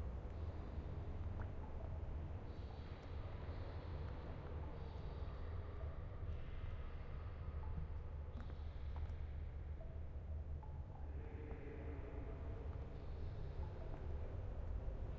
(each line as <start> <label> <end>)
0.0 Water 15.1